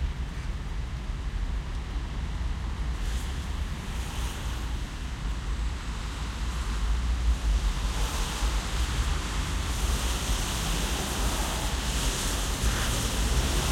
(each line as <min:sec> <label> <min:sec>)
0:00.0 Loud traffic on wet 6-lane street 0:13.7
0:00.0 rain 0:13.7